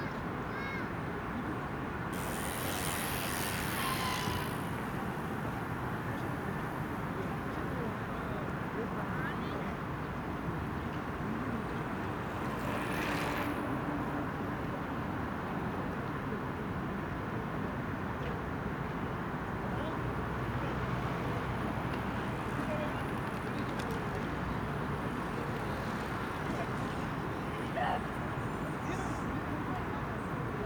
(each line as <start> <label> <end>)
0.2 Han river 16.9
2.1 Riding Bicycle 8.7
10.2 Riding Bicycle 15.6
19.9 Riding Bicycle 29.2